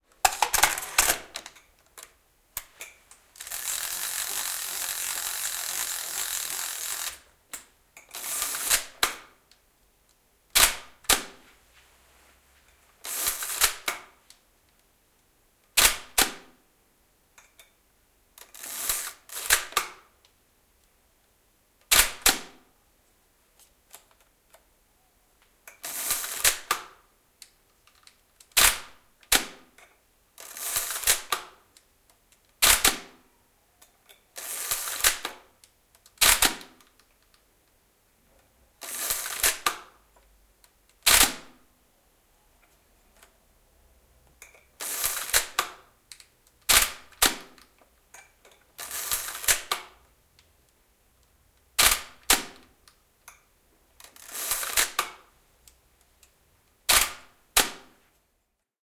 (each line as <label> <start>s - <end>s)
shutter 0.2s - 7.3s
winding film 3.2s - 7.3s
shutter 8.1s - 9.4s
winding film 8.1s - 9.0s
shutter 10.5s - 11.4s
shutter 13.0s - 14.2s
shutter 15.7s - 16.5s
shutter 18.4s - 20.0s
shutter 21.9s - 22.6s
shutter 25.8s - 27.0s
shutter 28.4s - 29.6s
shutter 30.4s - 31.6s
shutter 32.6s - 33.2s
shutter 34.4s - 35.5s
shutter 36.2s - 37.0s
shutter 38.8s - 40.0s
winding film 38.8s - 39.7s
shutter 41.0s - 41.6s
shutter 44.8s - 45.9s
winding film 44.8s - 45.6s
shutter 46.6s - 47.7s
shutter 48.8s - 50.0s
shutter 51.8s - 52.7s
shutter 54.0s - 55.3s
shutter 56.8s - 58.0s